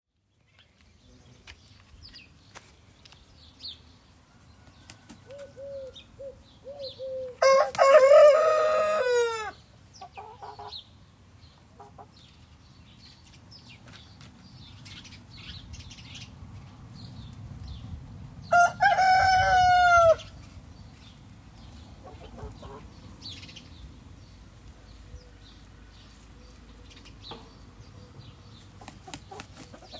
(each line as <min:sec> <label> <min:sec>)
0:04.6 Pigeons 0:07.9